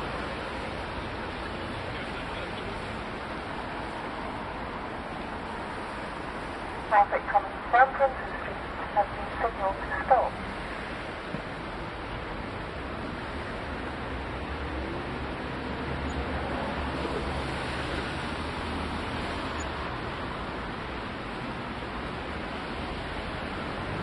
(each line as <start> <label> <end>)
0.0 Talking traffic lights/pedestrian crossing 4.4
5.0 Talking traffic lights/pedestrian crossing 14.2